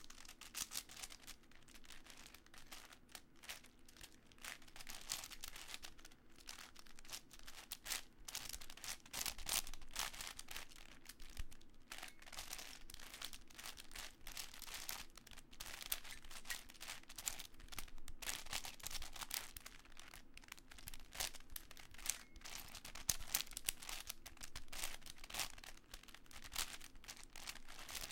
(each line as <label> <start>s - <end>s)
quick solve of a 7x7x7 Cube 0.0s - 28.1s